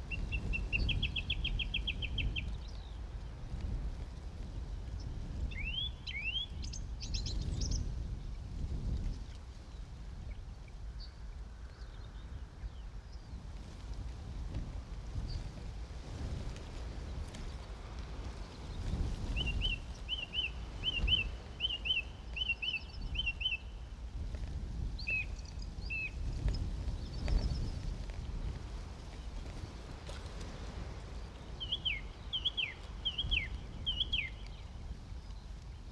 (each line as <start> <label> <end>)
0.0 busy skylarks 3.6
0.0 gusty wind 35.9
0.1 Morning song thrush very close 3.0
5.5 Morning song thrush very close 7.9
16.5 busy skylarks 35.9
19.4 Morning song thrush very close 23.8
25.0 Morning song thrush very close 26.3
31.2 Morning song thrush very close 35.9